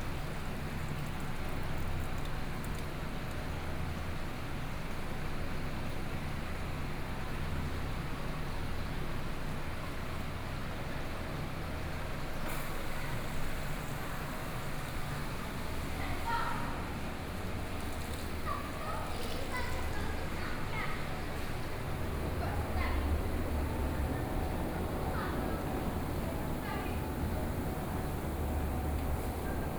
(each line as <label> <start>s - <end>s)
Air conditioning noise 12.2s - 29.7s